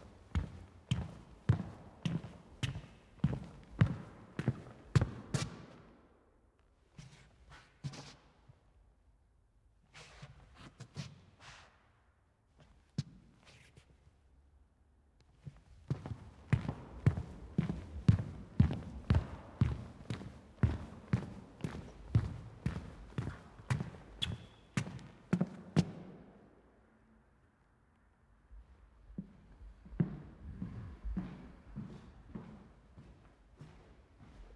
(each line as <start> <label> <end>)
0.0 Steps Indoor medium soft Shoe Sole accompanying wooden Floor 8.9
9.8 Steps Indoor medium soft Shoe Sole accompanying wooden Floor 14.6
15.2 Steps Indoor medium soft Shoe Sole accompanying wooden Floor 26.6
27.9 Steps Indoor medium soft Shoe Sole accompanying wooden Floor 34.5